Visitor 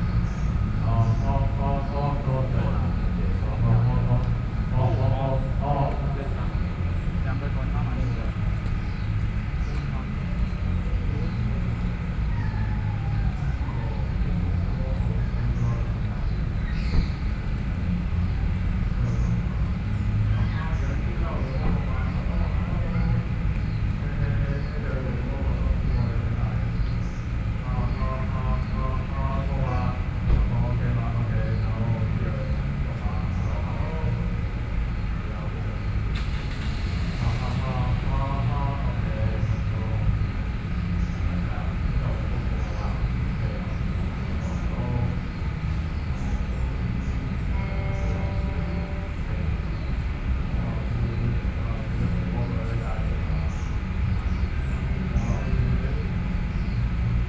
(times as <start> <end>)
18.0 57.2